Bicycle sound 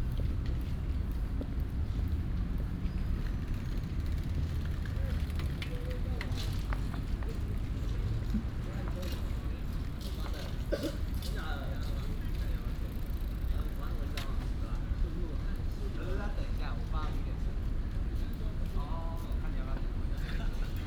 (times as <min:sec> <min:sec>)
0:02.6 0:14.5